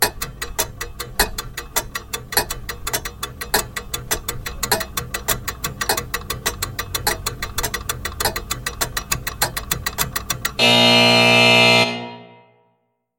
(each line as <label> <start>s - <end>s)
ticking 0.0s - 11.7s
fail buzzer 10.6s - 12.7s